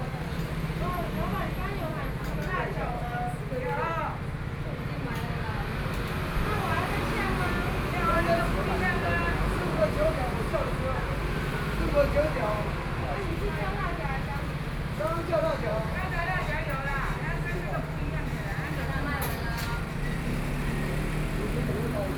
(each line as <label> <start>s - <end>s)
Traffic Noise 0.0s - 22.1s